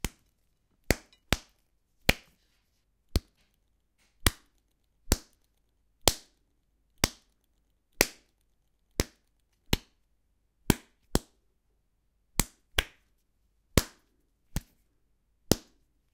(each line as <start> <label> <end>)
0.0 Punching Dough 2.3
4.1 Punching Dough 6.4
7.0 Punching Dough 10.0
10.6 Punching Dough 11.4
13.7 Punching Dough 14.8
15.4 Punching Dough 15.8